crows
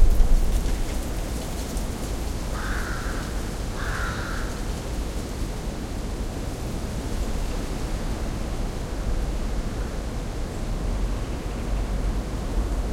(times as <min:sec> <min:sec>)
0:02.5 0:04.7